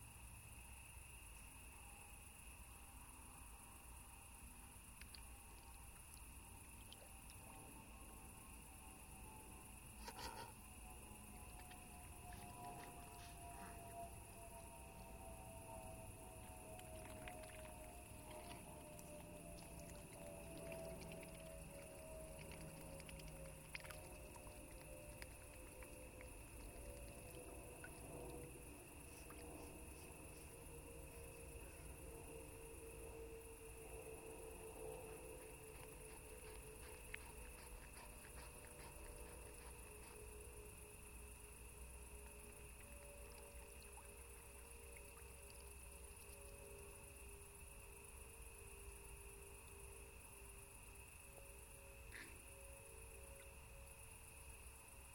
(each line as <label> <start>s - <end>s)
Crickets and cicades chirping 0.0s - 55.1s